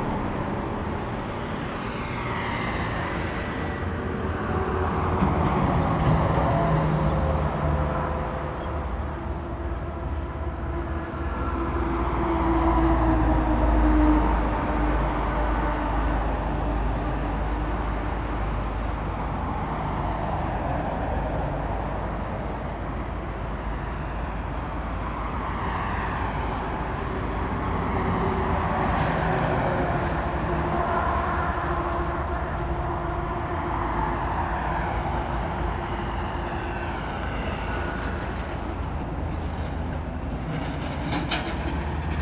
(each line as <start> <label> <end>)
0.0 Traffic sound 42.2